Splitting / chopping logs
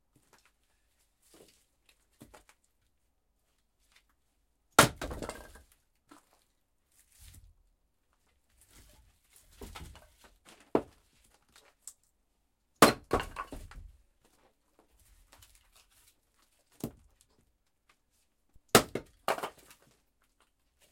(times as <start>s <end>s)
4.8s 5.4s, 12.8s 13.6s, 18.7s 19.6s